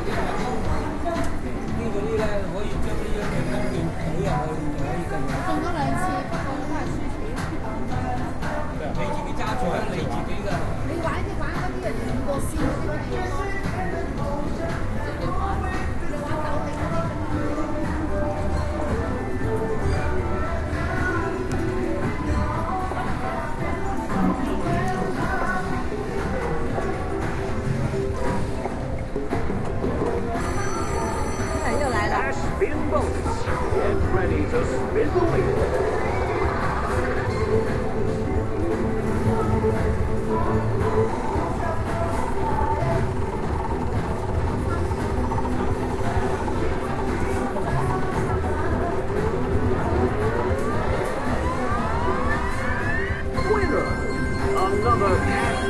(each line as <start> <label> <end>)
26.8 machines 55.6